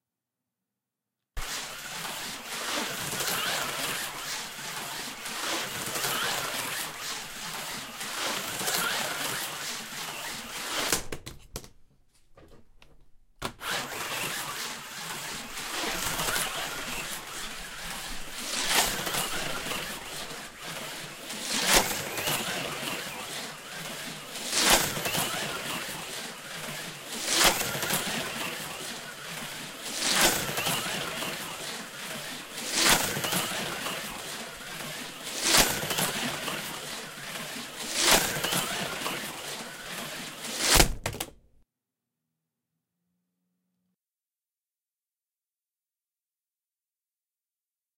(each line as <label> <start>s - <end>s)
HO scale slot car racing around a track 1.4s - 11.3s
HO scale slot car racing around a track 13.4s - 40.9s